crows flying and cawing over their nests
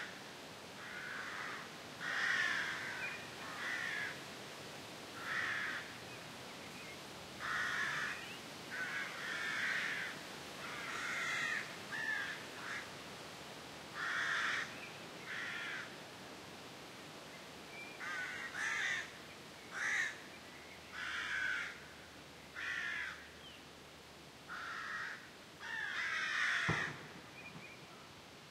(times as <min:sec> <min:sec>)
0:00.8 0:04.2, 0:05.2 0:06.0, 0:07.4 0:12.9, 0:14.0 0:16.0, 0:18.0 0:19.1, 0:19.7 0:20.2, 0:21.0 0:21.8, 0:22.6 0:23.3, 0:24.5 0:27.3